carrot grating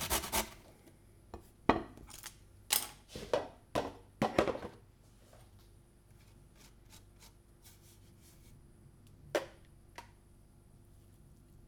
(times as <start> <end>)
0.0 0.6